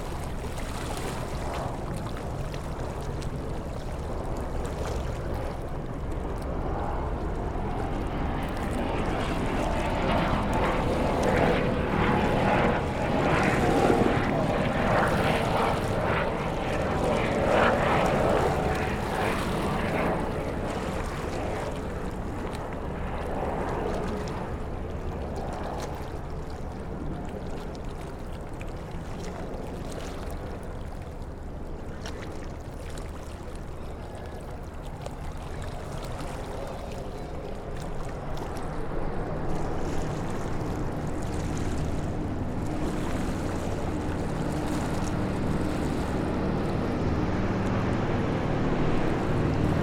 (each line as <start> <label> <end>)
0.0 River Thames 49.8
0.1 aircraft sounds 25.8
27.5 river traffic 49.8
35.5 aircraft sounds 49.8